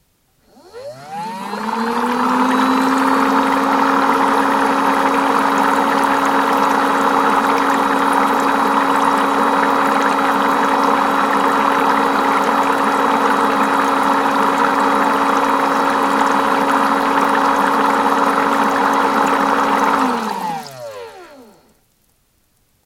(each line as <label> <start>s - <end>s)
electric motor makes a whine 0.4s - 6.9s
small bubbles in a shallow pan of water 1.6s - 22.2s
electric motor makes a whine 19.2s - 21.8s